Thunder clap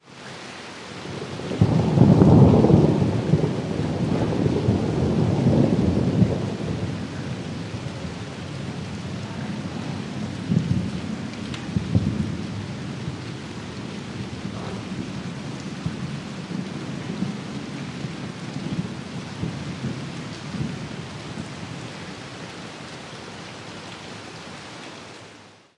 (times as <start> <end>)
1.4 13.4, 14.2 21.7